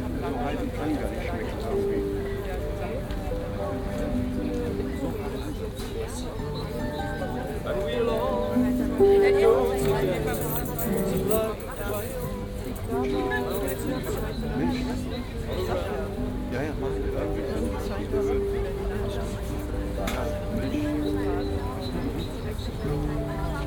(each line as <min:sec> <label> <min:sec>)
0:00.0 harpist 0:23.6
0:00.0 people are sitting around, having coffee 0:23.6